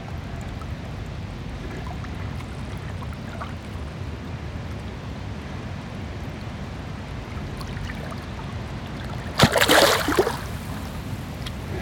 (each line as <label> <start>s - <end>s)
Calm waves 0.0s - 11.8s